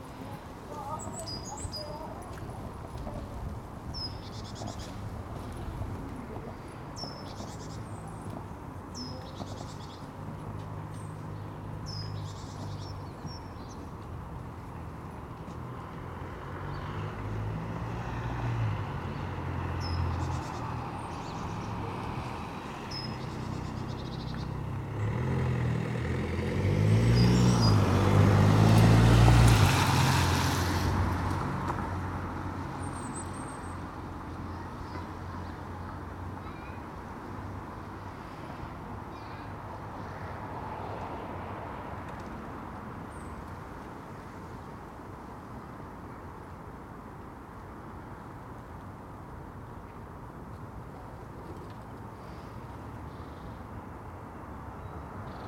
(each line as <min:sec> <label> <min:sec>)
0:00.0 gusting wind 0:07.1